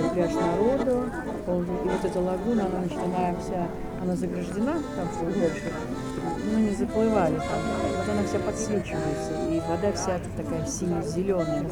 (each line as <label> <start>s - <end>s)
people 0.0s - 11.7s